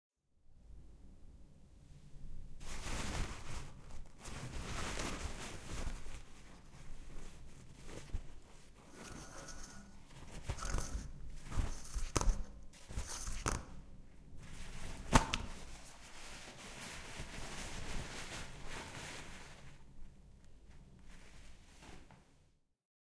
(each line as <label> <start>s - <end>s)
Ripping Out the Toilet Tissue Paper 2.6s - 20.0s